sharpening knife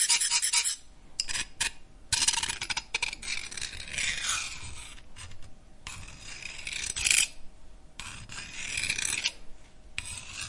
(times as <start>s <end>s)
0.0s 1.4s